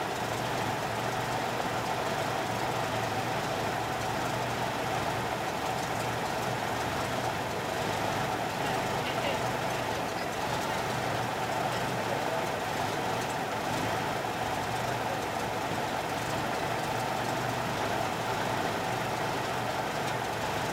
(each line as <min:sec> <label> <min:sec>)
0:00.0 idle motor noise 0:20.7
0:08.4 people in the back talking 0:16.3